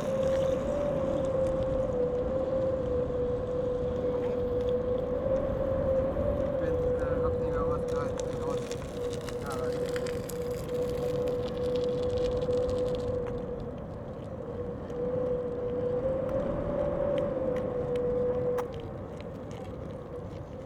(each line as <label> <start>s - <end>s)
wind in fence 0.0s - 20.6s